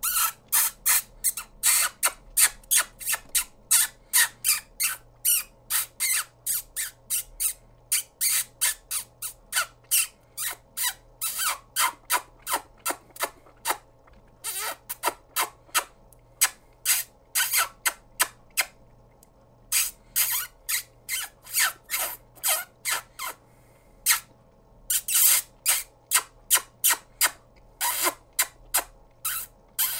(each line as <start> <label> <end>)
0.0 mouse squeaking 13.8
14.4 mouse squeaking 18.8
19.7 mouse squeaking 23.4
24.9 mouse squeaking 29.9